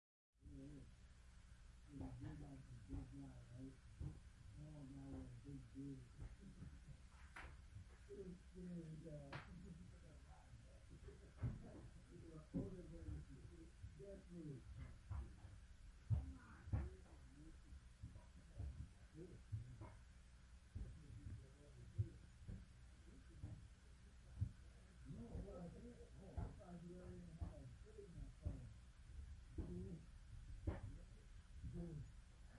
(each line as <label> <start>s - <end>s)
voice 0.5s - 0.9s
men working on the floor 1.8s - 32.5s
voice 1.9s - 6.8s
voice 8.0s - 15.5s
voice 16.1s - 20.0s
voice 20.8s - 23.6s
voice 24.4s - 28.7s
voice 29.6s - 32.5s